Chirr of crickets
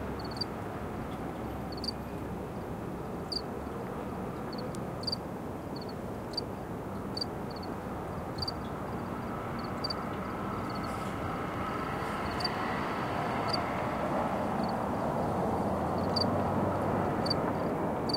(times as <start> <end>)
0.2 0.5, 1.7 2.0, 3.3 3.5, 4.5 6.5, 7.1 13.7, 14.6 18.1